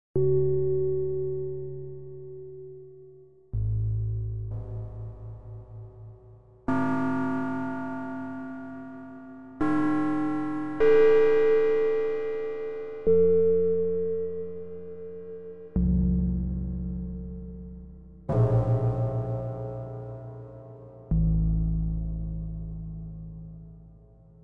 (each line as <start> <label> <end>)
6.7 software synthesizer 15.8